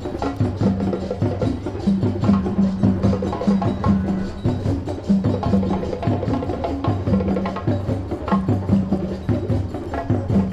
cathedral bells 0:00.0 - 0:10.5
street musicians 0:00.0 - 0:10.5

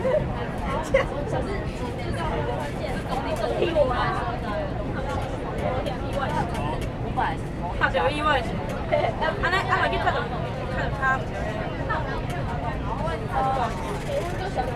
students in the train 0:00.0 - 0:14.7

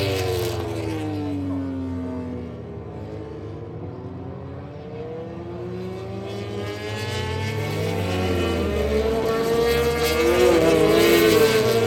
motorcycle grand prix 0:00.0 - 0:11.8

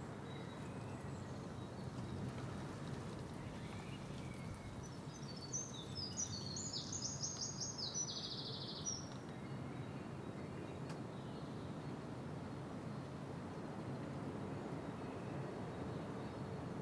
a wren sings 0:03.7 - 0:09.2

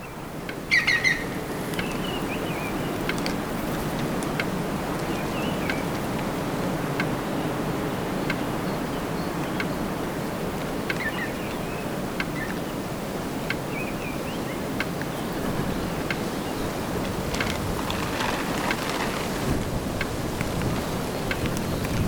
birds 0:00.0 - 0:19.6
Wind in green houses 0:00.0 - 0:22.0

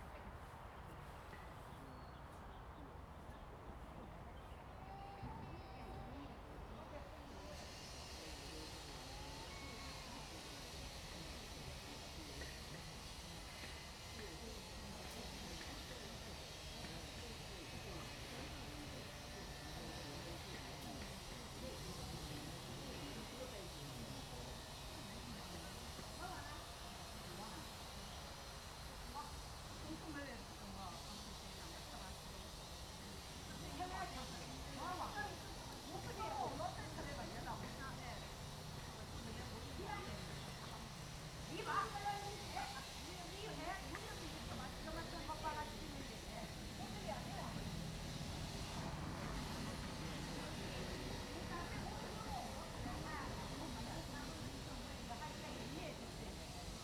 Tourists 0:00.0 - 0:56.8
wind 0:00.0 - 0:56.8

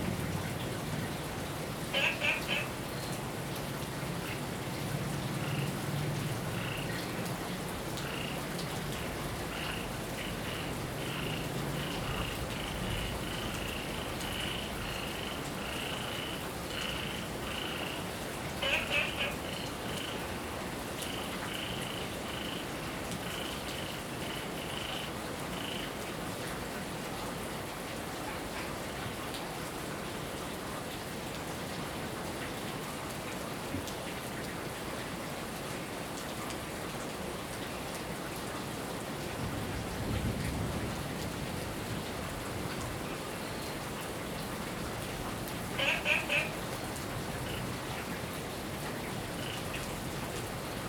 Heavy rain 0:00.0 - 0:50.8
Frog chirping 0:01.9 - 0:02.7
Frog chirping 0:09.5 - 0:18.0
Frog chirping 0:18.6 - 0:20.2
Frog chirping 0:45.7 - 0:46.6

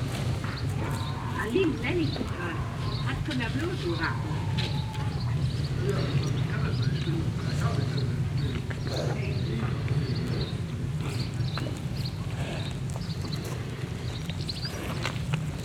Children play across the street 0:00.0 - 0:15.3
talk 0:00.8 - 0:11.3

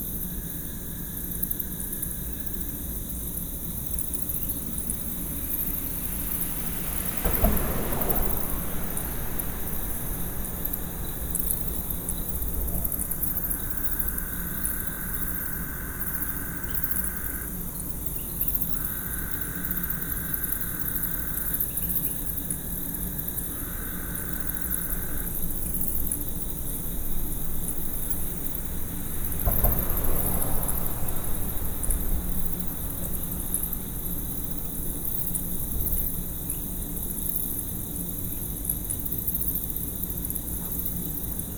crickets 0:00.0 - 0:41.5
frogs 0:00.0 - 0:41.5
traffic 0:03.9 - 0:17.6
night herons 0:04.6 - 0:22.2
traffic 0:22.8 - 0:38.6
night herons 0:22.8 - 0:36.6

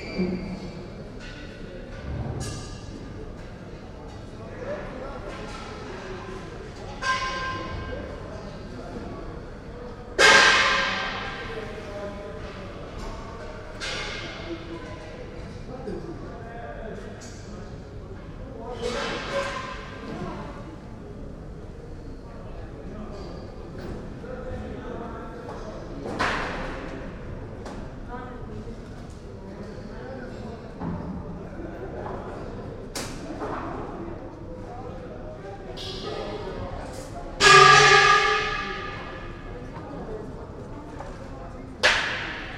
workers install platforms and seating 0:35.8 - 0:39.4

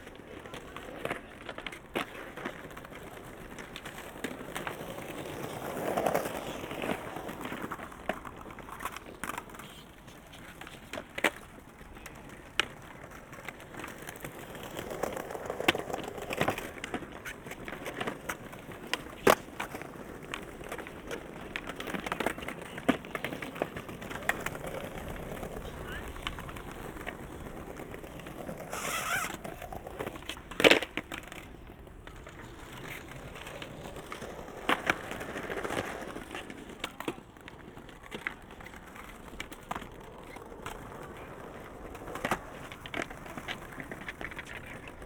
skaters practising 0:00.0 - 0:45.0

